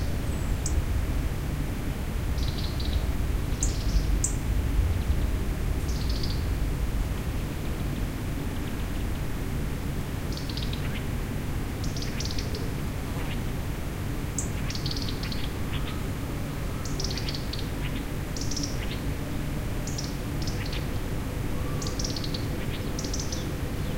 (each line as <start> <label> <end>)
0.0 Bird song ( erithacus rubecula ) 1.0
2.2 Bird song ( erithacus rubecula ) 6.6
10.3 Bird song ( erithacus rubecula ) 13.5
14.3 Bird song ( erithacus rubecula ) 23.9